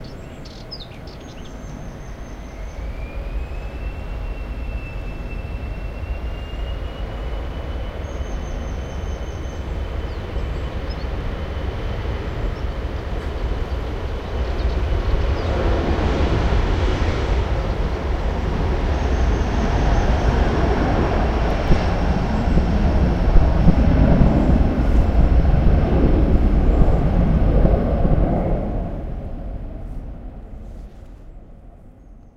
Black headed Warbler 0.0 - 11.2
Black headed Warbler 13.7 - 15.6

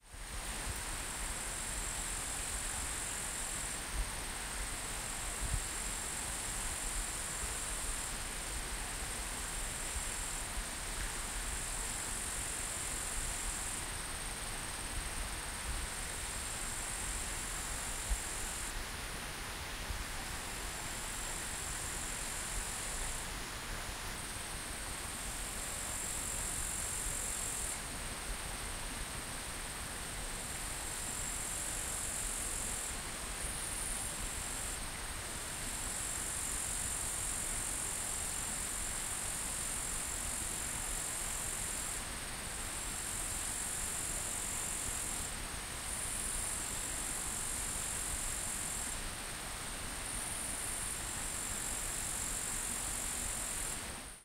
small river in middle distance 0.1 - 54.2
other insects 0.1 - 54.2

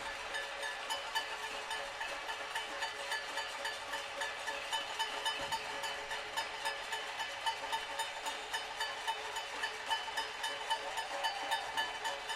protests 9.0 - 12.3

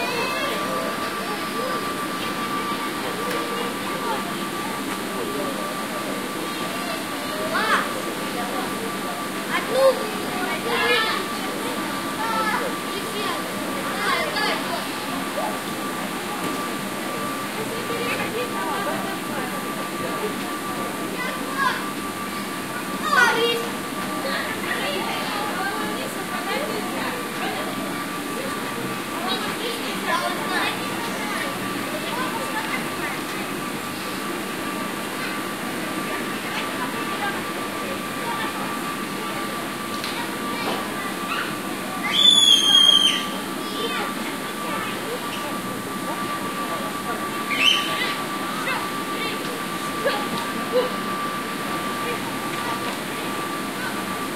childrens playing 0.0 - 54.3

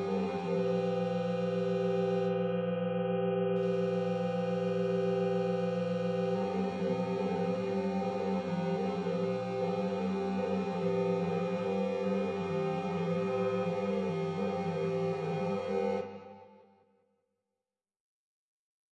Drones 0.0 - 16.2

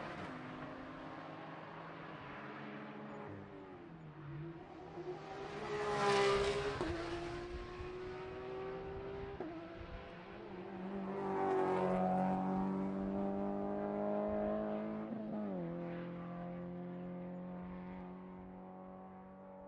several cars accelerating 4.2 - 19.5

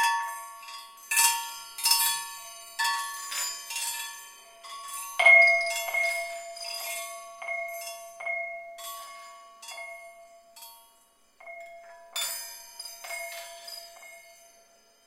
Home-made chimes 0.0 - 15.0

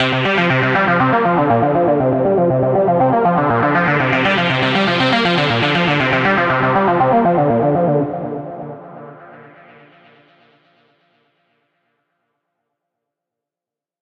guitar 0.0 - 9.3

